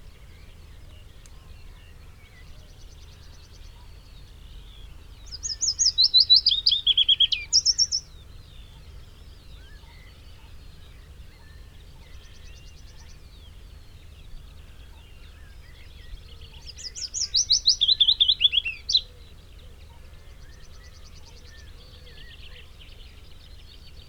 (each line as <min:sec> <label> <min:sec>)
0:00.0 background noise 0:24.0
0:00.0 song thrush 0:24.0
0:00.0 willow warbler song 0:24.0
0:00.1 pheasant 0:24.0
0:00.2 red-legged partridge 0:24.0
0:00.2 blackbird 0:24.0
0:05.2 blue tit 0:09.0
0:14.3 skylark 0:24.0
0:15.0 blue tit 0:19.2